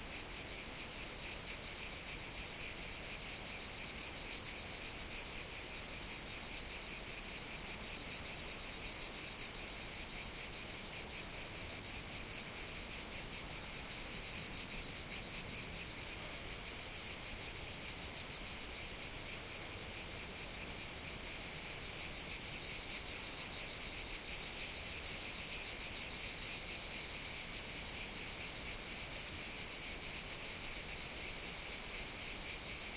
0.0s Cicadas 32.9s
0.0s Cricket 32.9s

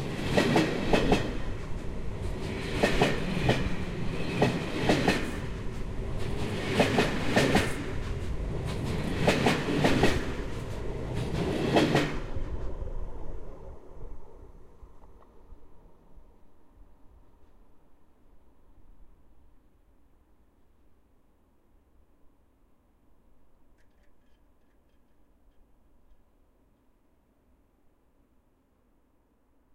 0.0s freight train passing 17.8s

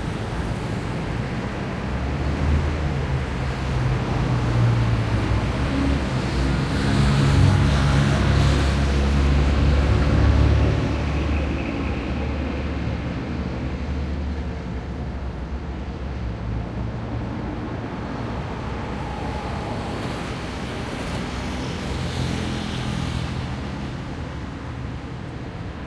0.0s cars 25.8s

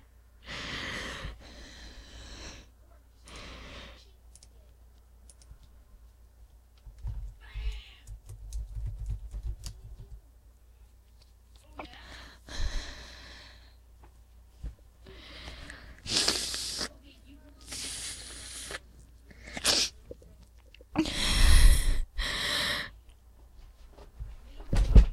0.4s breathing 4.1s
11.9s breathing 13.8s
15.0s breathing 16.1s

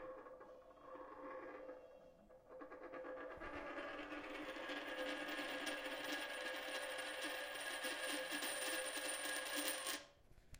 2.5s coin spinning and coming to a halt 10.1s

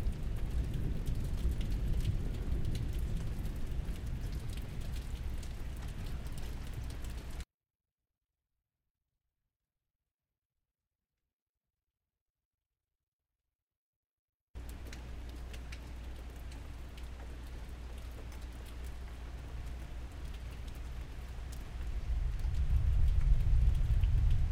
0.0s Thunder Claps 7.0s
21.9s Thunder Claps 24.5s

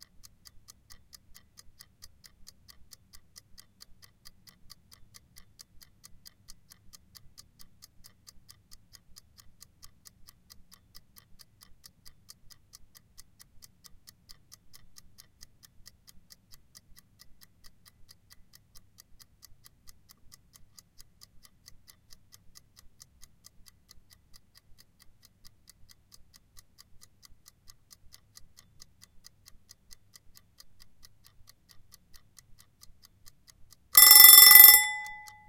34.0s kitchen timer, ticking and ringing 35.4s

